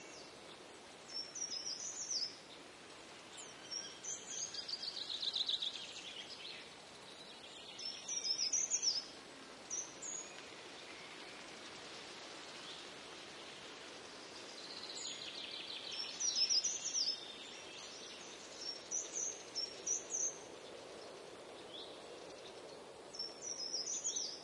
0.0s breeze on trees 24.4s
0.0s short Nightingale passage 24.4s
3.3s Blackbird 9.1s
14.3s Blackbird 20.5s
21.8s Blackbird 24.4s

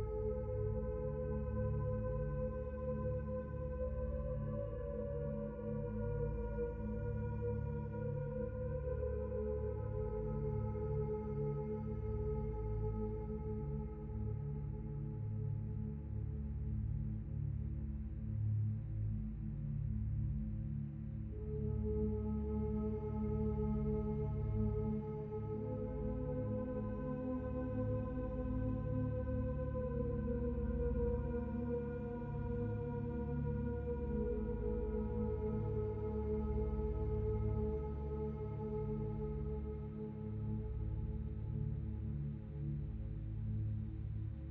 0.0s synthesizer 44.5s

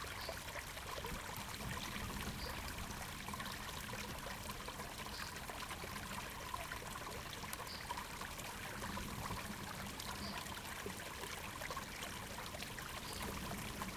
0.0s small spring stream 13.9s

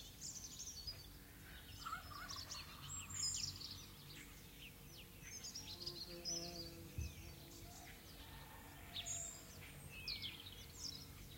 7.6s rooster 9.5s

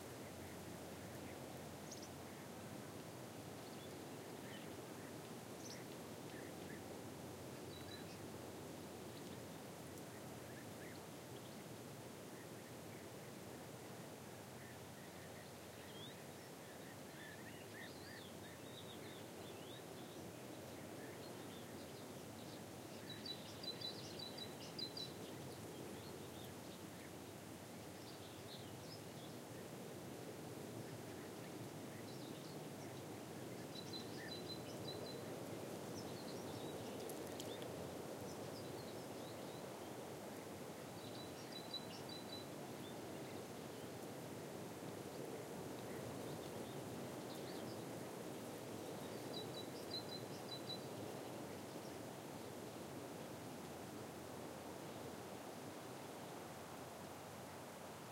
0.0s wind on pine trees 58.1s

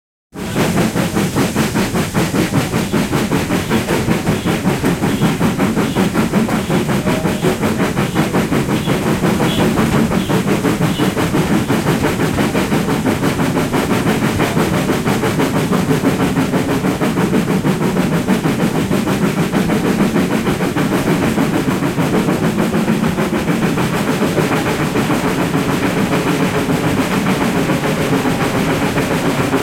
0.3s Steam engine speeding up 29.6s

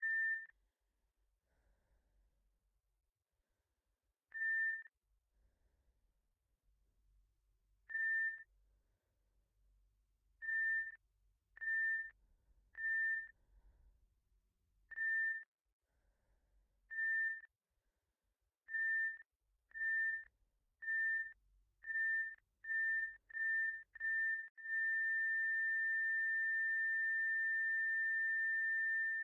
0.0s electrocardiogram 0.6s
1.5s breath 2.2s
4.3s electrocardiogram 5.0s
7.9s electrocardiogram 8.5s
10.4s electrocardiogram 11.0s
11.6s electrocardiogram 13.4s
14.9s electrocardiogram 15.5s
16.9s electrocardiogram 17.5s
18.6s electrocardiogram 29.2s

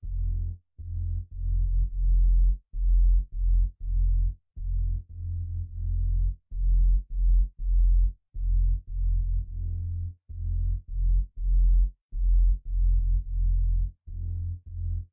0.0s sub bass 15.1s

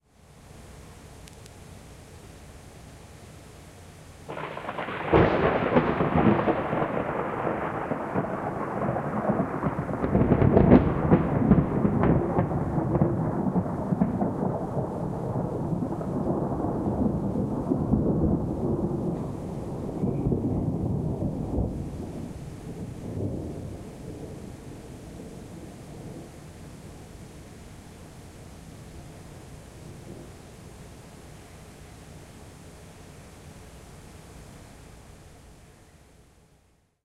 4.3s thunderclaps 27.1s

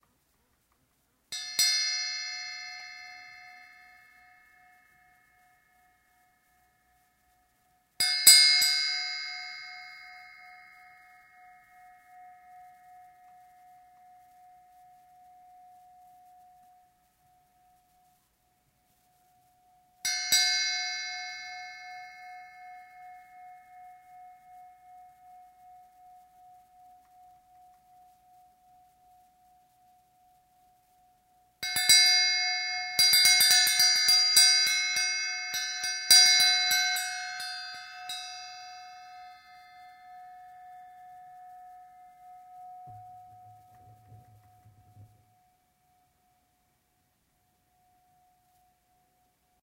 1.3s rings of an old small, round bell 46.5s

